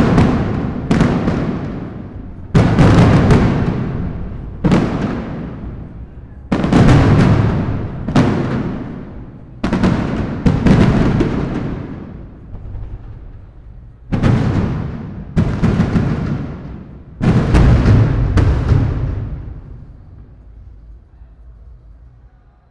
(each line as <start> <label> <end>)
0.0 fireworks 22.0